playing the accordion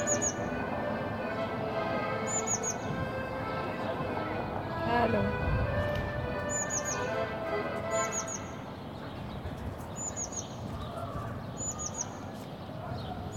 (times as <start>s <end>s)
0.0s 9.8s